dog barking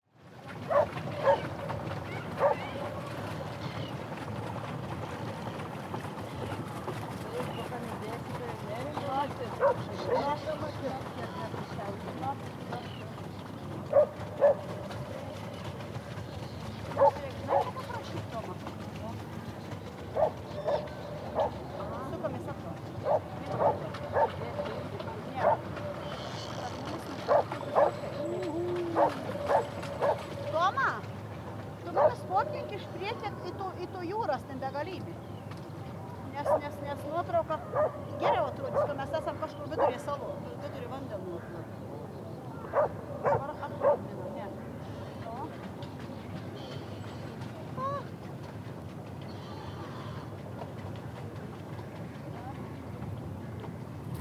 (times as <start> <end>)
0.7 1.5, 2.4 2.6, 9.6 10.3, 13.9 14.6, 23.0 24.4, 27.3 28.0, 29.0 30.2, 37.7 39.0, 42.7 44.0